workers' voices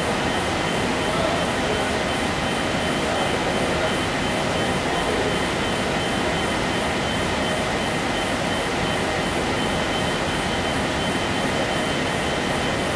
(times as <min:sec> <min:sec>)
0:00.0 0:06.1